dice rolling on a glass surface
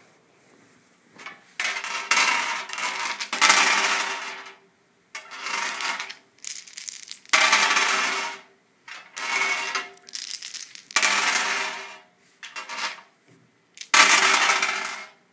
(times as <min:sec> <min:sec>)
0:01.6 0:04.4, 0:05.2 0:08.4, 0:09.0 0:13.0, 0:13.8 0:15.1